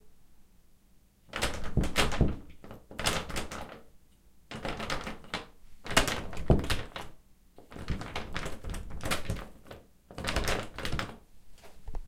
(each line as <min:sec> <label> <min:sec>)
0:04.5 door being locked 0:11.2